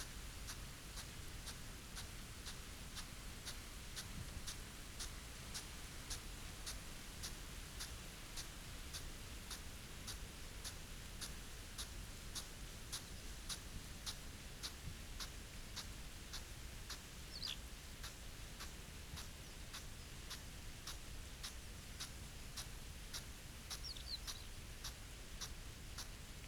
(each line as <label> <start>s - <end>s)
pheasant 0.0s - 26.4s